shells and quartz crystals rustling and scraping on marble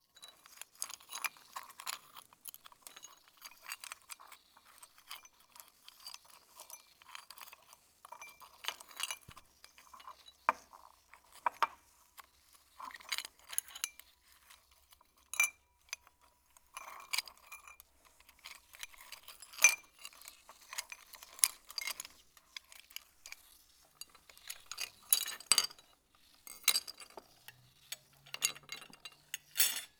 0:16.8 0:29.9

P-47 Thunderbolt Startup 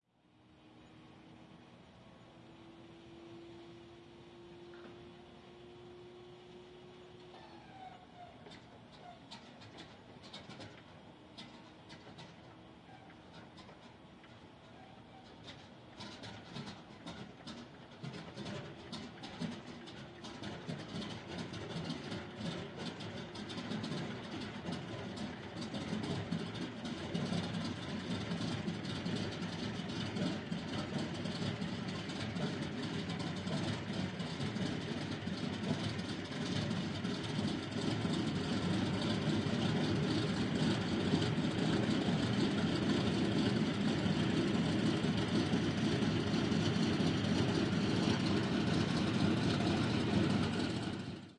0:16.0 0:51.2

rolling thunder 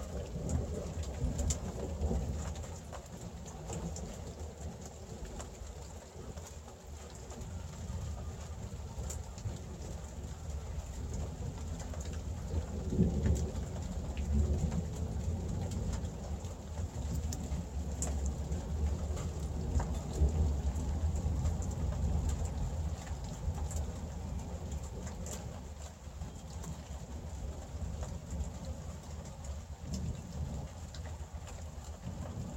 0:08.0 0:25.6

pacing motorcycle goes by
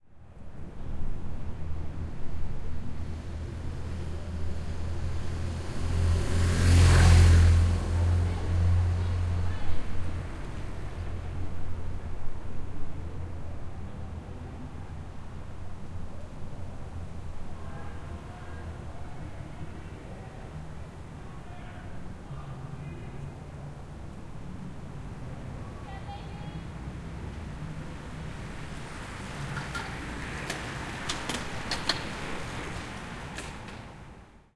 0:05.4 0:11.1

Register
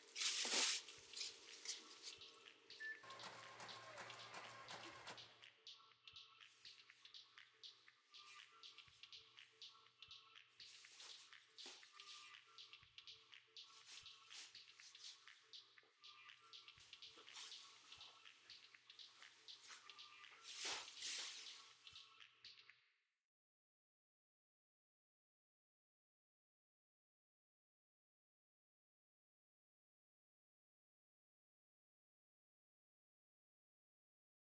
0:00.1 0:07.5

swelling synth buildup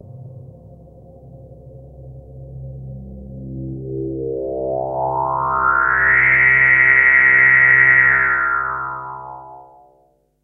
0:03.3 0:09.8

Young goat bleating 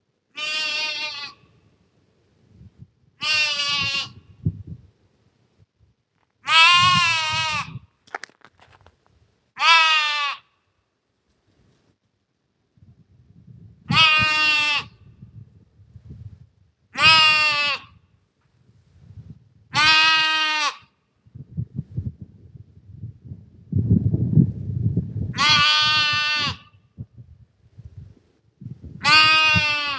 0:00.4 0:01.5, 0:03.2 0:04.3, 0:06.4 0:07.8, 0:09.6 0:10.5, 0:13.9 0:15.0, 0:17.0 0:18.0, 0:19.7 0:20.9, 0:25.3 0:26.8, 0:29.0 0:29.9

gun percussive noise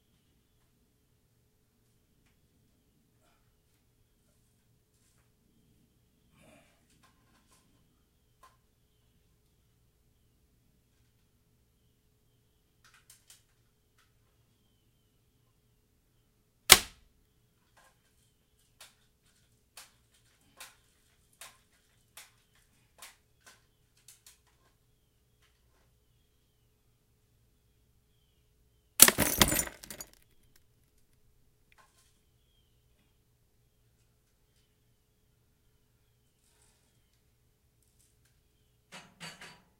0:29.0 0:30.2

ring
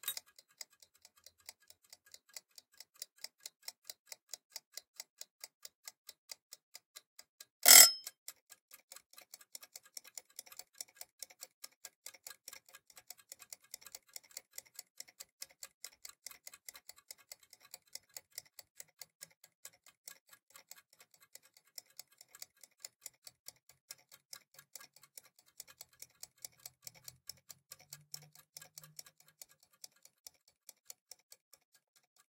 0:07.6 0:08.1

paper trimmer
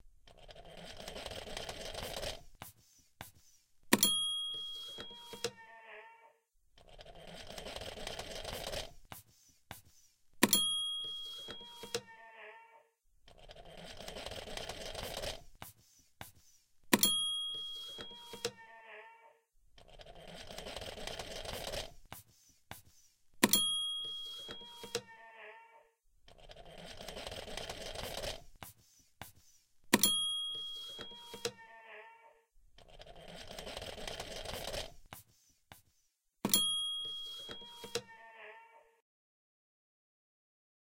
0:00.3 0:02.5, 0:06.8 0:09.2, 0:11.0 0:12.1, 0:13.3 0:15.7, 0:16.9 0:18.6, 0:19.8 0:22.2, 0:23.4 0:25.1, 0:26.3 0:28.8, 0:29.9 0:31.6, 0:32.8 0:35.2, 0:37.0 0:38.1

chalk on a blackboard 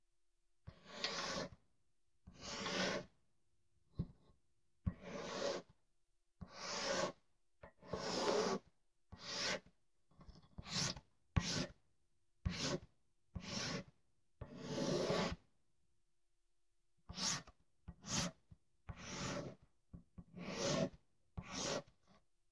0:00.7 0:01.6, 0:02.3 0:03.2, 0:04.9 0:05.8, 0:06.4 0:11.8, 0:12.4 0:15.4, 0:17.1 0:22.2

